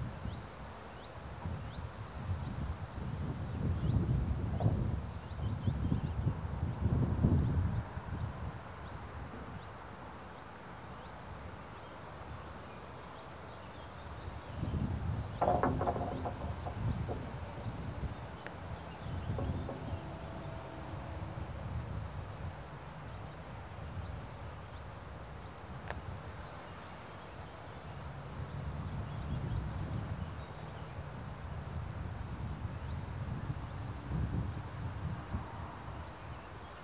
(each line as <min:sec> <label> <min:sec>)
0:15.4 slabs are loose, knocking about in their fastenings 0:20.5